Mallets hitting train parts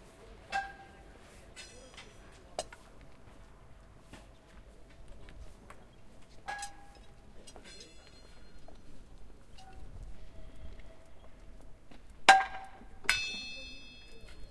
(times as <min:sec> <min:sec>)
0:00.5 0:01.0, 0:06.5 0:08.2, 0:12.3 0:14.3